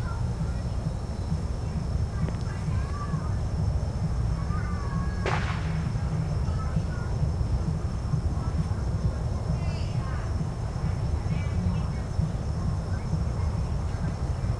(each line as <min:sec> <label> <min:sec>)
0:00.0 party in the distance 0:14.5
0:05.0 firecrackers 0:08.8
0:05.2 fireworks 0:06.8